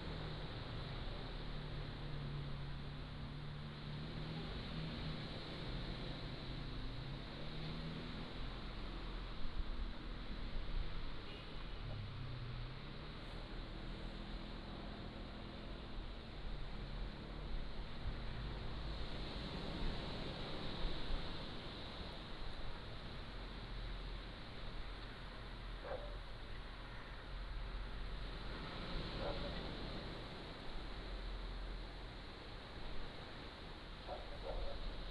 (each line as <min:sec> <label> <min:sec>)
0:00.0 waves 0:35.1
0:25.8 Dogs barking 0:26.2
0:34.1 Dogs barking 0:34.8